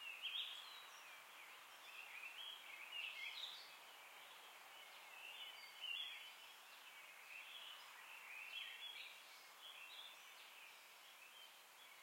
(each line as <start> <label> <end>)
0.0 wind 12.0